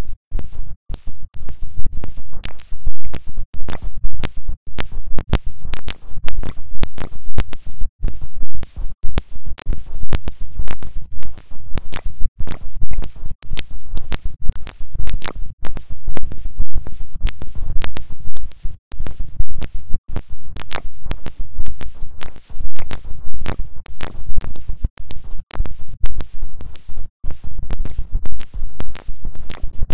clicks 0.0 - 29.9

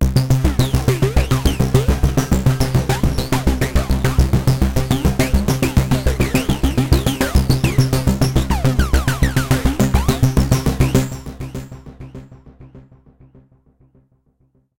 arpeggiated loop 0.0 - 11.3

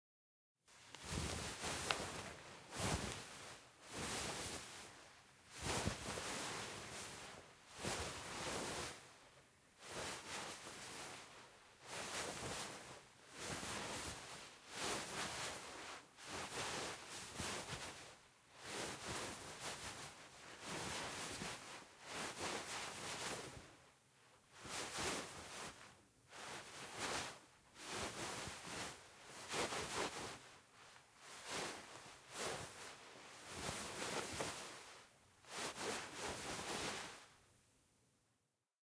fabric movement sweater 0.7 - 37.5

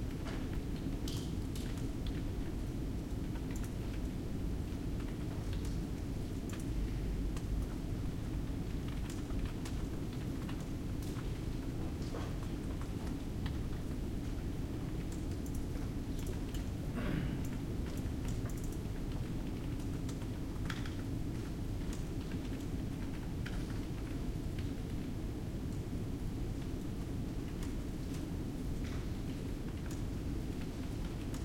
ventilation system 0.0 - 31.4
computer keyboards and mouses 3.0 - 4.1
computer keyboards and mouses 5.0 - 7.8
computer keyboards and mouses 8.9 - 11.3
computer keyboards and mouses 11.9 - 16.7
students cough 17.0 - 17.4
computer keyboards and mouses 17.4 - 24.7
computer keyboards and mouses 29.7 - 31.4

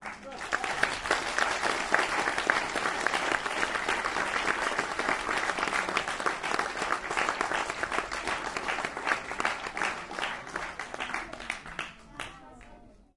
applause 0.0 - 12.8

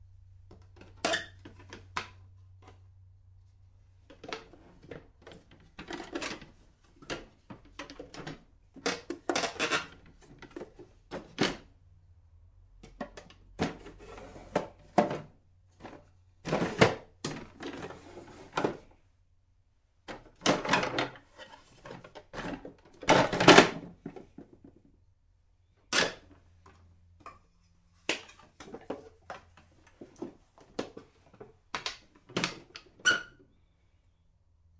opening and closing sounds of a squeaky bath cabinet 1.0 - 1.7
opening and closing sounds of a squeaky bath cabinet 32.3 - 33.6

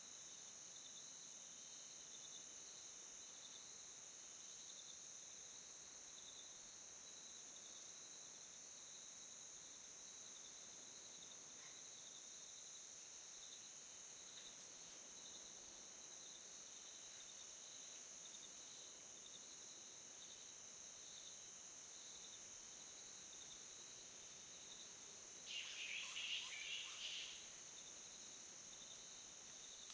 crickets 0.0 - 29.9
Flying Fox (spectacled fruit bat, pteropus-conspicillatus) call 25.5 - 27.4

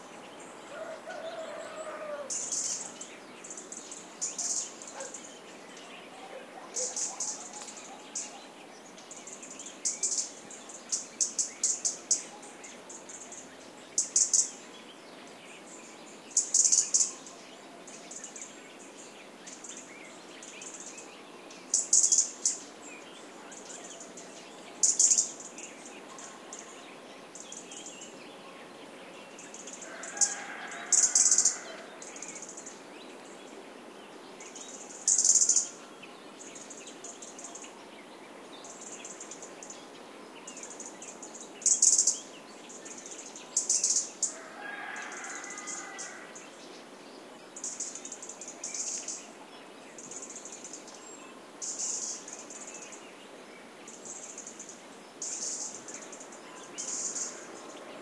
insects 0.0 - 58.0
singing birds 0.0 - 58.0
barking dogs 4.9 - 5.2

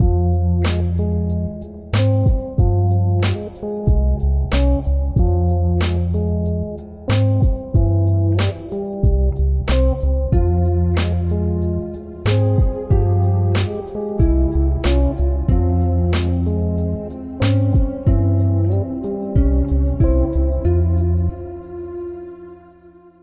instrumental 0.0 - 23.2

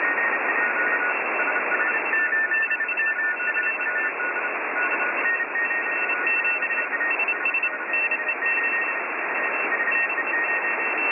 Ham radio morse code broadcasts 0.0 - 11.1

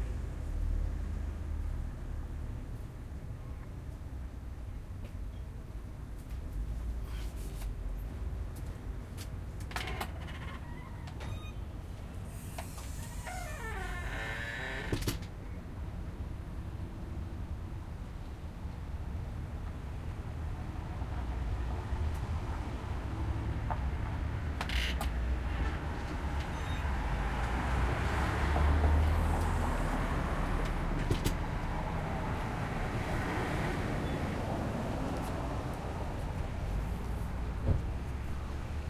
cars and trucks driving by on a busy street 0.0 - 38.8
door opens periodically nearby 9.6 - 11.7
door opens periodically nearby 12.4 - 15.3

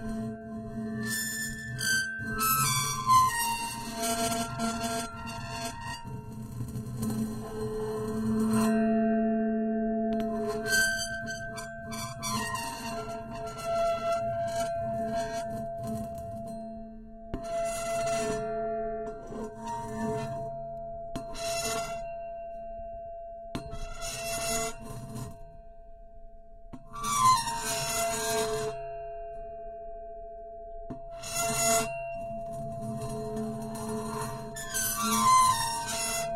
Metallic high pitched scraping 0.0 - 8.8
Metallic high pitched scraping 10.2 - 16.6
Metallic high pitched scraping 17.4 - 20.5
Metallic high pitched scraping 21.2 - 22.1
Metallic high pitched scraping 31.2 - 36.3

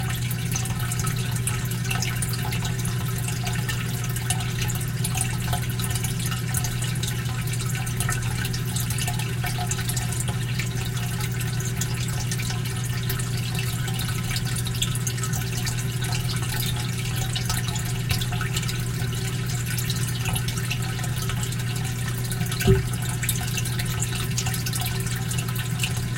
waterfall filter is LOUD 0.0 - 26.1

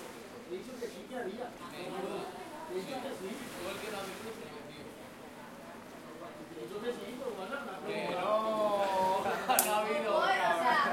fishermen and people talking 0.0 - 10.9
waves 0.0 - 10.9

